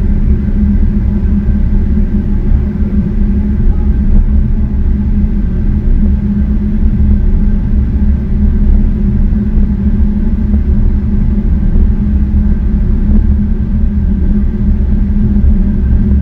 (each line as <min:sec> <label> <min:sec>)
0:00.0 Central heating boiler switching on and working 0:16.2